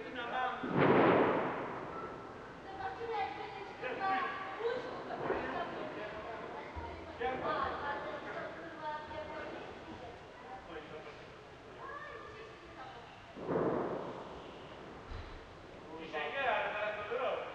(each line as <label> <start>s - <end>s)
fireworks 0.6s - 3.1s
fireworks 5.2s - 6.0s
fireworks 13.4s - 15.2s